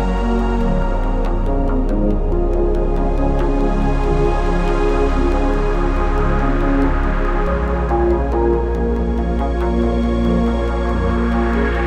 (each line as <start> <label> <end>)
0.0 piano 11.8